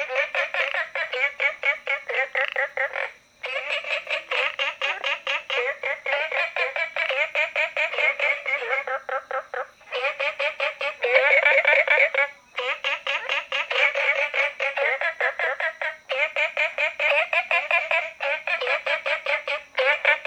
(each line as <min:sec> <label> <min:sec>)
0:00.0 Frogs chirping 0:20.2